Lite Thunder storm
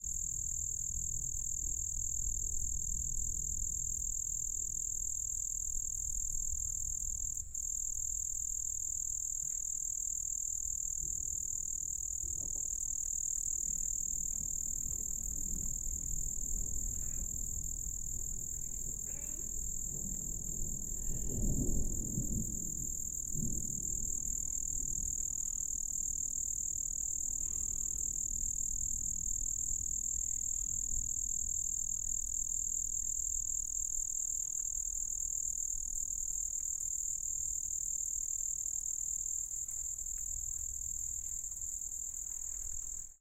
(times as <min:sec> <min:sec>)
0:14.4 0:25.4